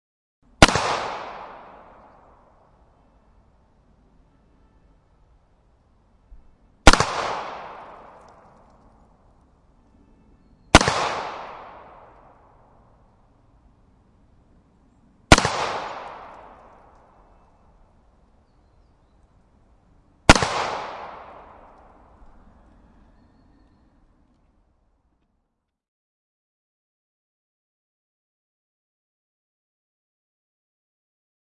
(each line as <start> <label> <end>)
0.6 gunshot 2.0
6.9 gunshot 8.3
10.7 gunshot 12.2
15.3 gunshot 16.8
20.3 gunshot 21.8